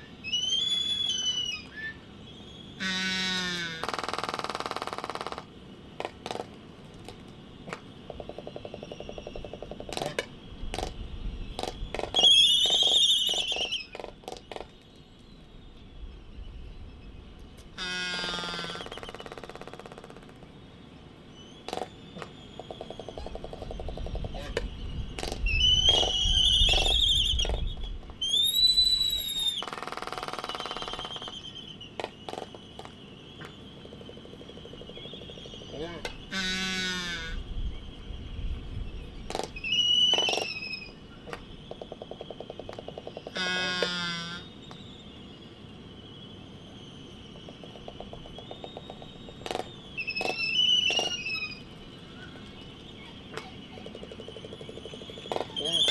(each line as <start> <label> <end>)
39.1 laysan albatross dancing 55.9